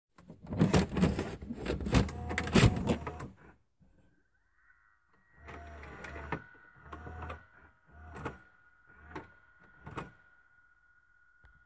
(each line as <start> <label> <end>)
0.2 cassette 3.6